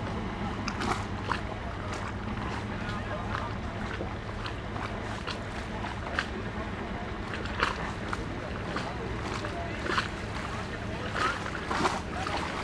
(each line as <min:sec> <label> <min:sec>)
0:00.0 lapping waves 0:12.6